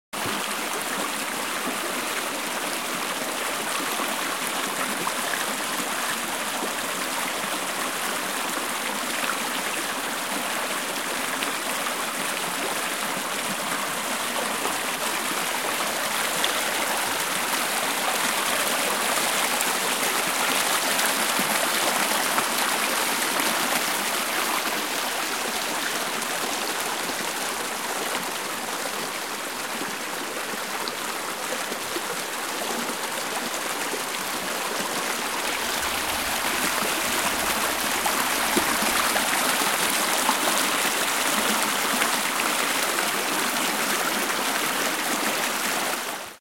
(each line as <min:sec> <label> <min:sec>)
0:00.2 Water Stream 0:46.4